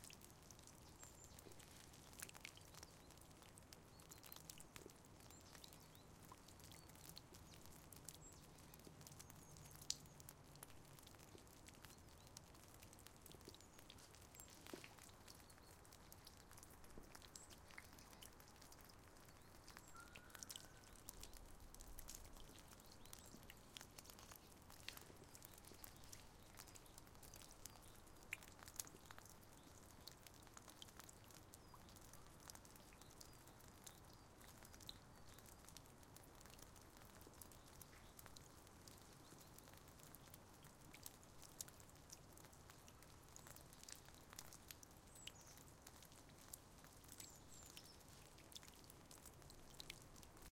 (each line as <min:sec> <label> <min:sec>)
0:00.0 Water drops from the roof 0:50.5